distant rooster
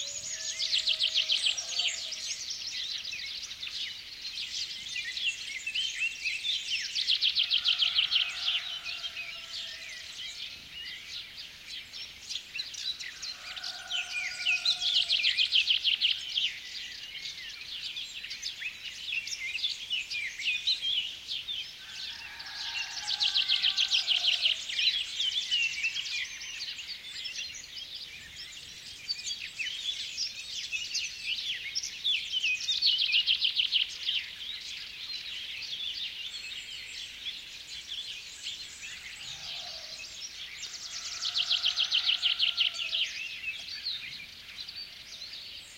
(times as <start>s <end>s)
0.0s 2.2s, 7.4s 10.2s, 13.1s 15.3s, 21.8s 24.7s, 39.1s 43.2s